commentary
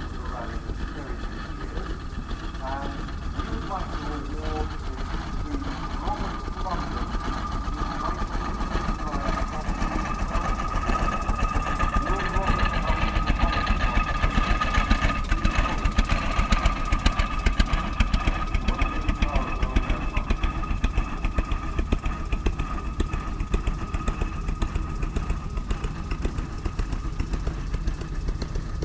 0.0s 16.5s, 18.2s 20.5s

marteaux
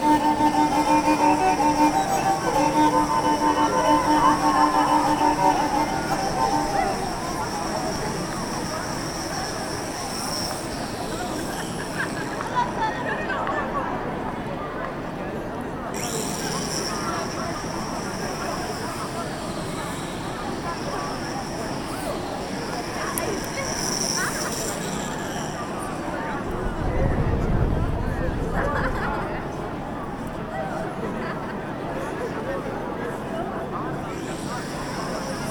0.0s 12.9s

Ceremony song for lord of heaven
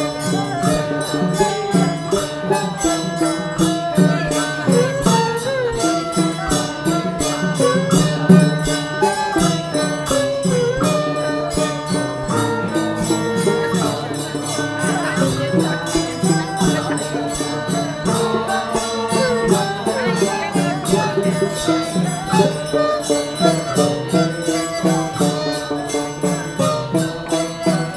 15.0s 23.4s

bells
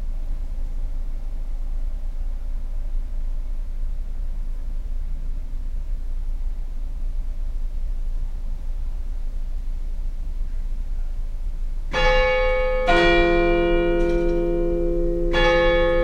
11.9s 16.0s

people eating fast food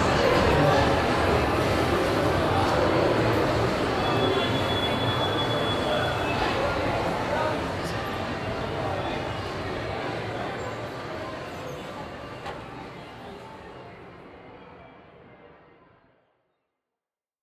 0.0s 4.2s

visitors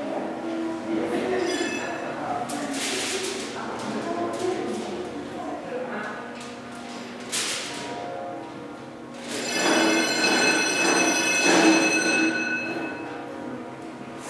9.2s 13.2s

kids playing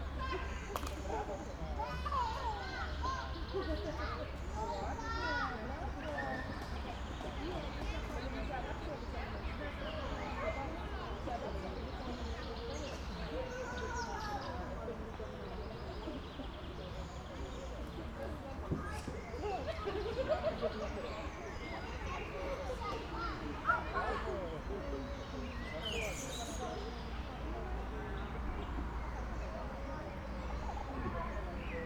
0.0s 6.9s, 18.6s 25.0s

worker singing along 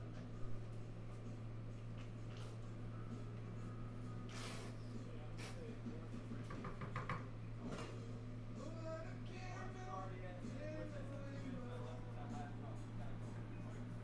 8.6s 12.9s

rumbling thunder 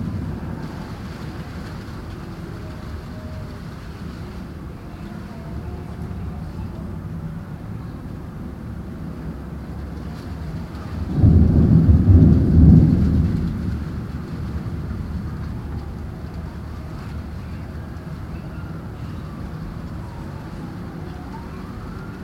0.0s 3.6s, 9.9s 20.4s

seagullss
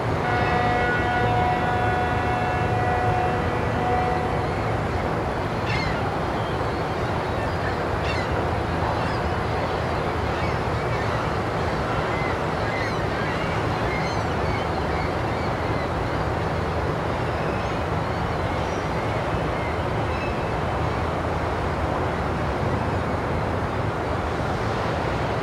5.5s 16.1s

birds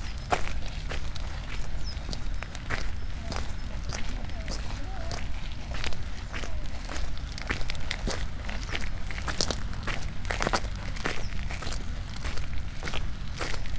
0.0s 6.6s, 11.1s 11.8s

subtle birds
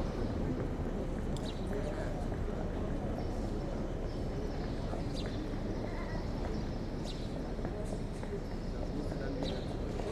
1.3s 2.1s, 2.9s 10.0s

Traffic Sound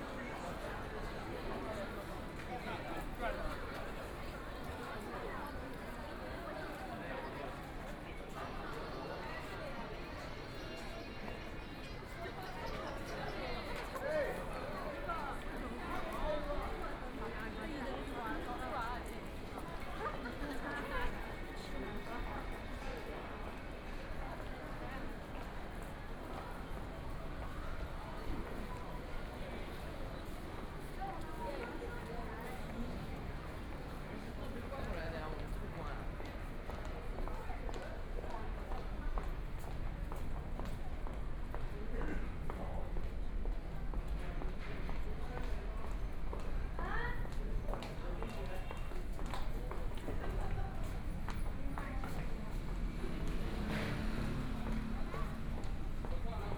50.2s 56.5s

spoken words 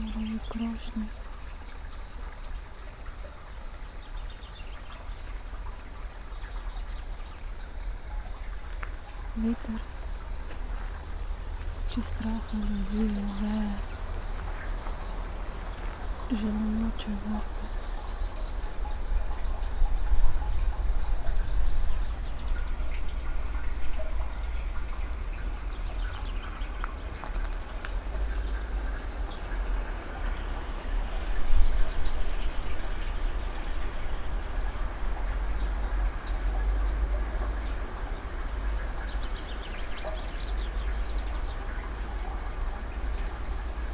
0.0s 1.1s, 9.4s 9.8s, 11.9s 13.8s, 16.3s 17.6s

